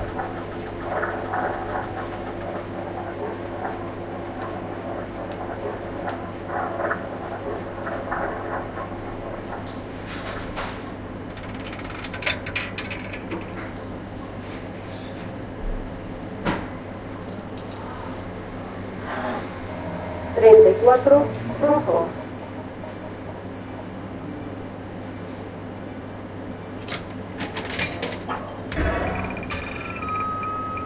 typical sounds of bets 0:11.3 - 0:13.7

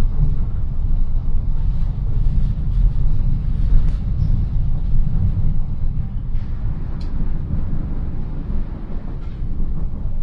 S-Bahn, an urban railway 0:00.0 - 0:10.2

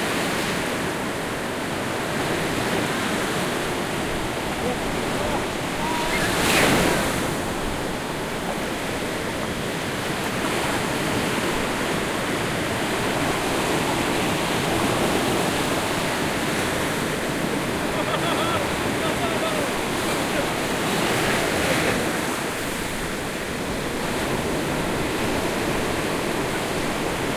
rolling surf 0:00.0 - 0:27.3
waves on the sand 0:00.0 - 0:27.3
windy 0:00.0 - 0:27.3
seagulls 0:04.6 - 0:07.1
kids playing and screaming 0:05.6 - 0:06.7

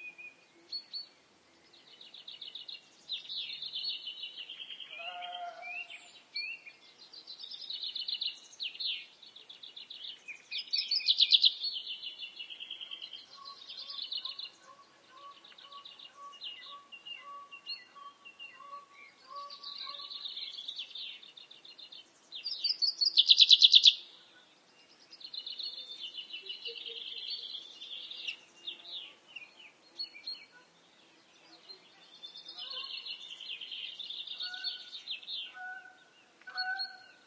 birds singing and calling 0:00.0 - 0:37.2
geese 0:35.5 - 0:37.2

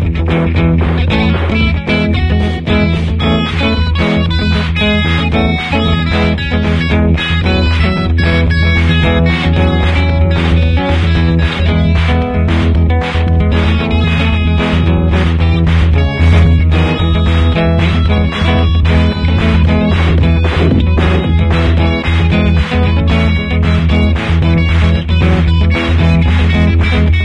sampler feedback 0:13.8 - 0:24.2

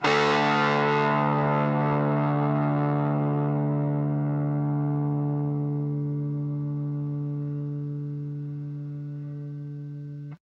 guitar power chords 0:00.0 - 0:10.4

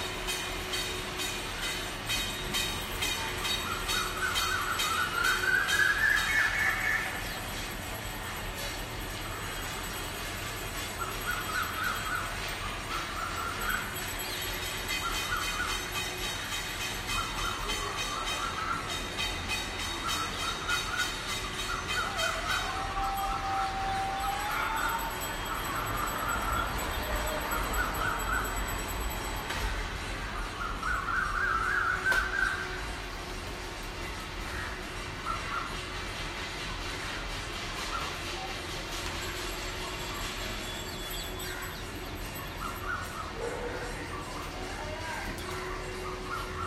bells 0:00.0 - 0:46.6

